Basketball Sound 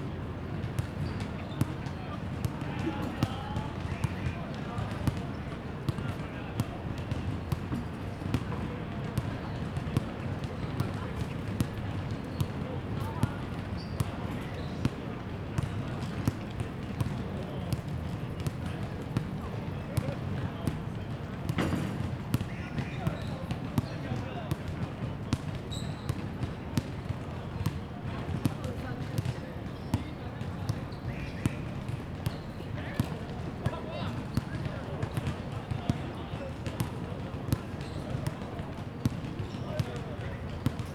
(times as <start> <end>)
21.5 23.0